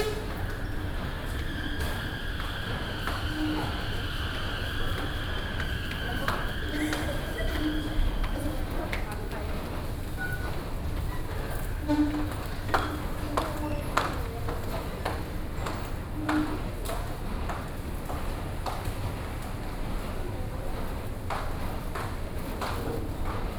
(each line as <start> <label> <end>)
0.0 Escalator noise 9.1